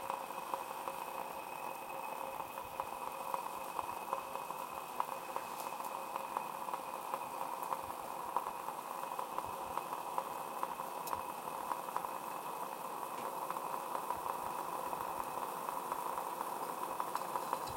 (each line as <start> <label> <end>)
0.0 water boiling 17.7